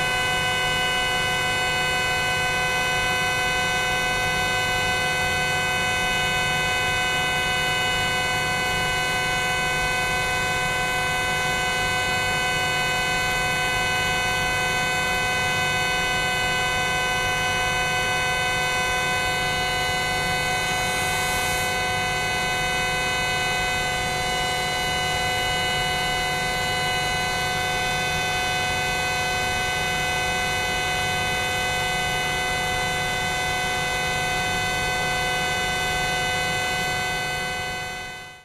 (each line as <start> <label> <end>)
13.8 air compressor 38.2